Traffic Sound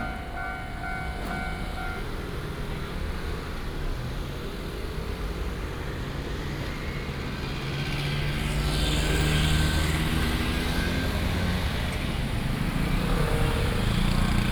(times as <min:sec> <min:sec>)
0:00.0 0:04.4